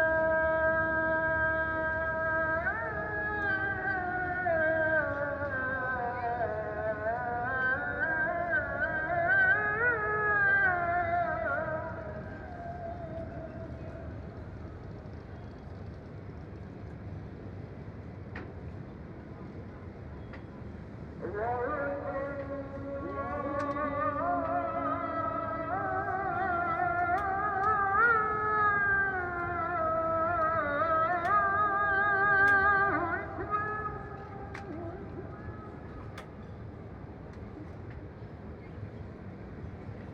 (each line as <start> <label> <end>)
0.0 Muezzin call to prayer 15.1
21.2 Muezzin call to prayer 36.4